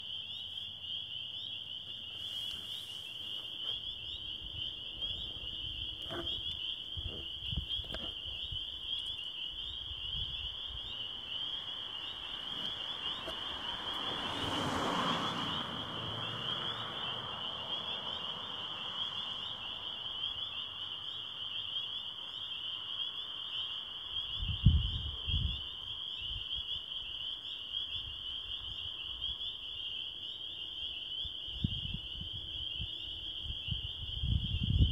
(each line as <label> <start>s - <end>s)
Spring peepers 0.0s - 34.9s
cars can be heard driving past 10.9s - 24.3s